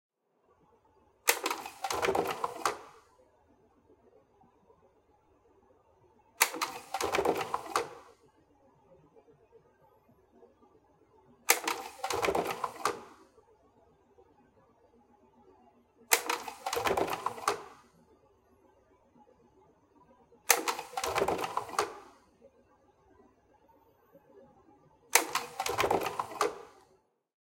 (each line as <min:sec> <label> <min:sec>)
0:01.2 projector 0:03.2
0:06.4 projector 0:08.2
0:11.5 projector 0:13.3
0:16.1 projector 0:18.0
0:20.5 projector 0:22.3
0:25.1 projector 0:26.9